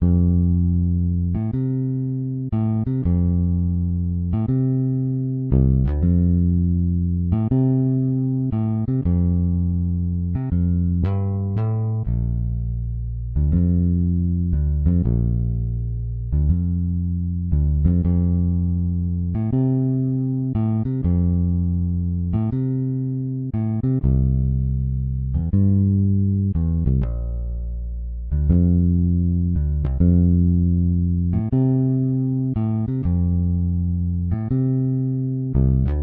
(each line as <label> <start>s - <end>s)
BASS 0.0s - 36.0s